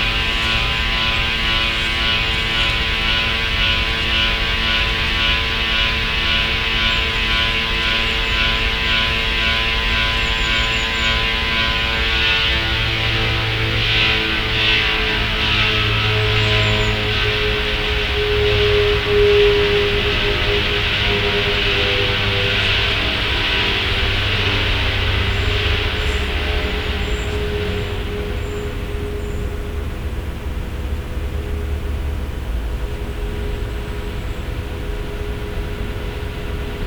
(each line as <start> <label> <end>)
0.0 strange industrial sound 36.8